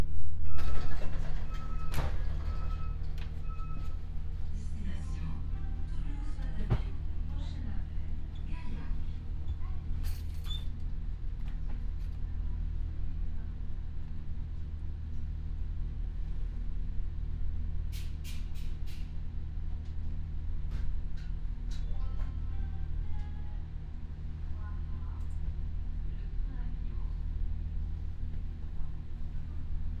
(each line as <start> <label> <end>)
0.0 Train 30.0
0.6 right door opened 4.0